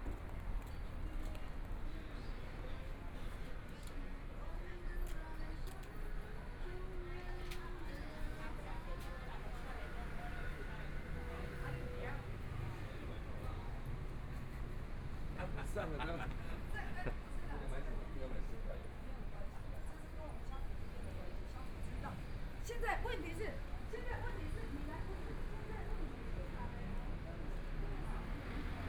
Walking in the street 0:00.0 - 0:28.8
shops and restaurants 0:00.0 - 0:28.8
Traffic Sound 0:06.4 - 0:18.2
Traffic Sound 0:20.0 - 0:28.8

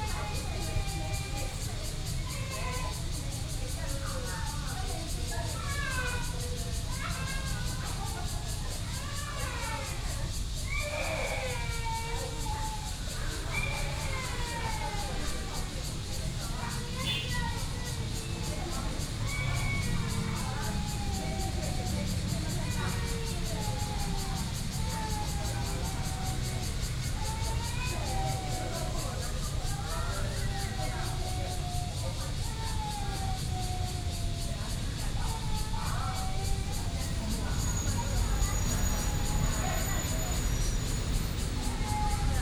Cicadas sound 0:00.0 - 0:42.4
Traffic Sound 0:12.9 - 0:42.4
MRT train passes 0:35.1 - 0:42.4

